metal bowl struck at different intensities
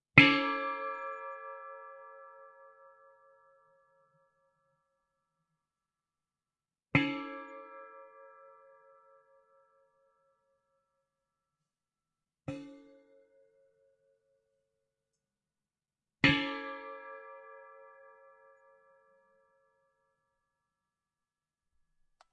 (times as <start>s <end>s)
12.5s 12.8s